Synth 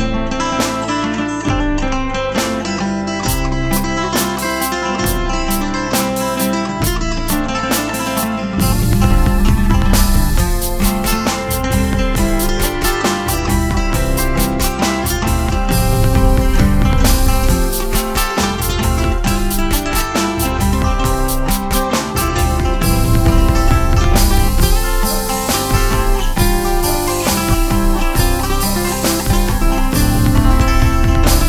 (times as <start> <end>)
8.6 12.9, 15.5 20.0, 22.6 31.4